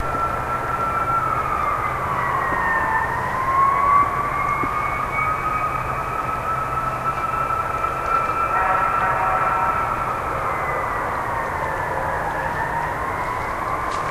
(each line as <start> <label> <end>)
0.0 siren 14.1